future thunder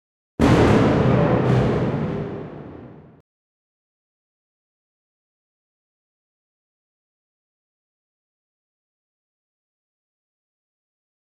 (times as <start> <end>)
0.4 3.2